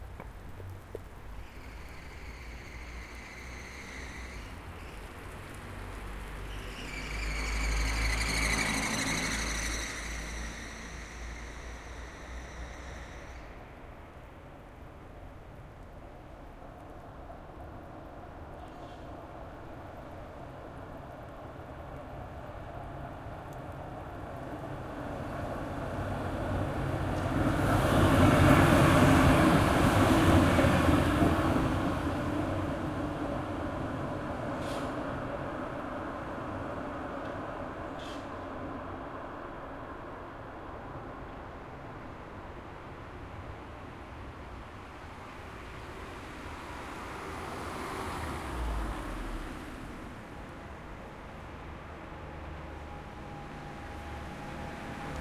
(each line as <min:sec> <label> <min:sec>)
0:00.0 tram passing close by 0:55.2